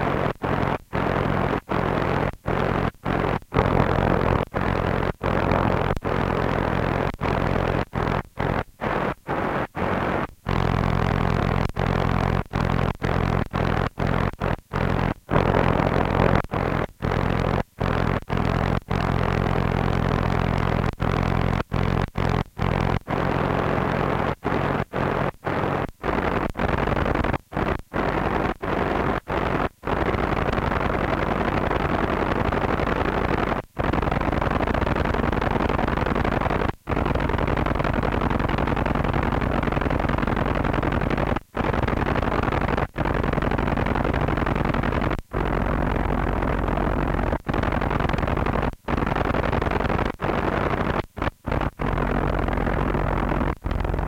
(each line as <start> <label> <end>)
0.0 Static radio sound from medium and shortwaves 54.0